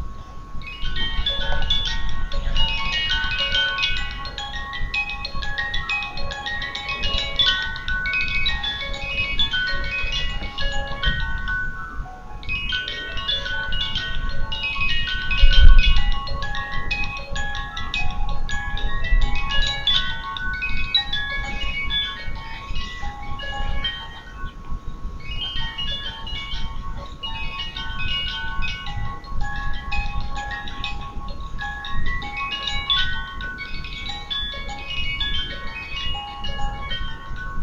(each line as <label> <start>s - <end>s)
dolly playing 0.0s - 37.6s